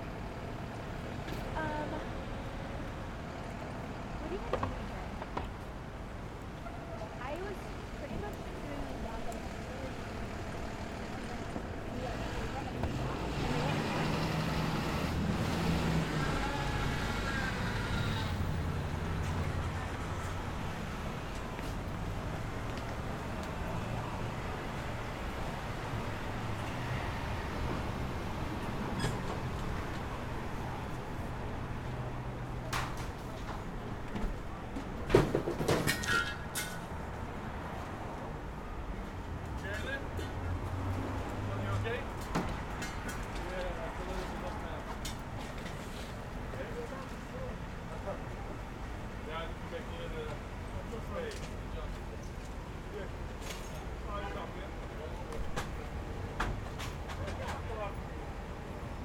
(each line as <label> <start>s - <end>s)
traffic 0.0s - 59.0s
workers unloading materials from a van 32.3s - 58.4s